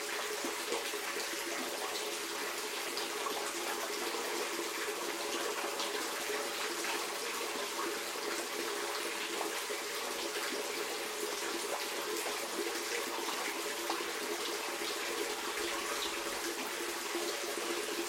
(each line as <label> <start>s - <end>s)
drain 0.0s - 18.0s